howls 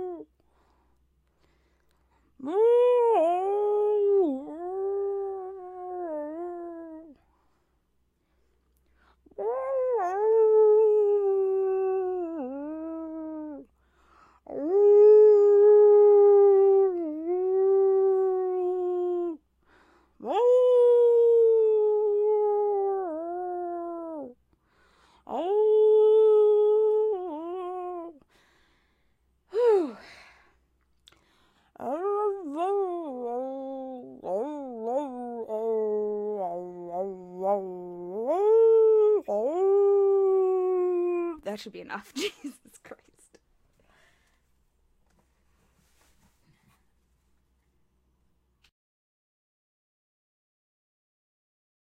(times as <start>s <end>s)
2.4s 7.3s, 9.3s 13.7s, 14.5s 19.4s, 20.2s 24.4s, 25.3s 28.3s, 31.7s 41.4s